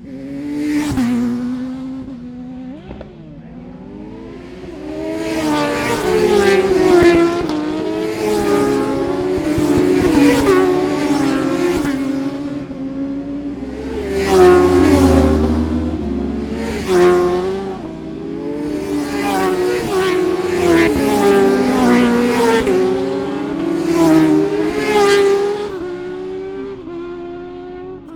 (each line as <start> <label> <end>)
0.0 motorcycle road racing 28.1